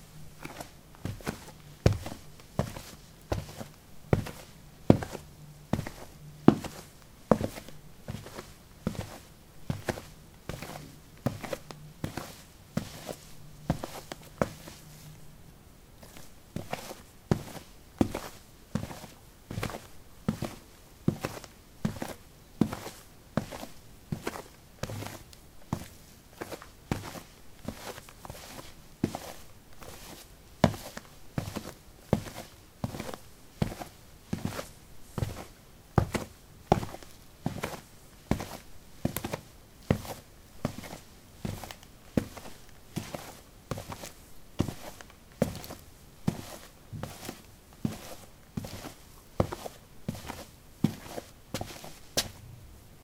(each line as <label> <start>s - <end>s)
squeakysportshoes walk 16.0s - 52.4s